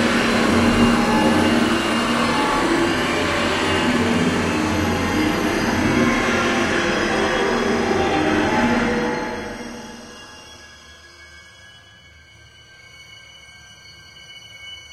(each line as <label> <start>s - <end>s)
High string intense suspense 0.0s - 10.8s